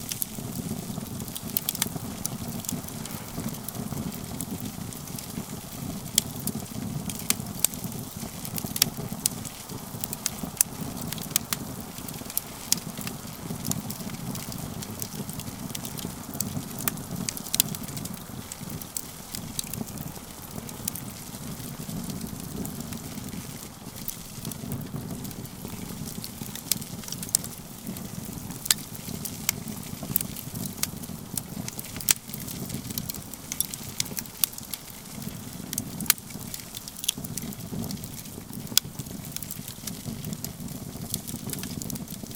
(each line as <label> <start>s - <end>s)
camp fire with lots of pops and hisses 0.0s - 42.3s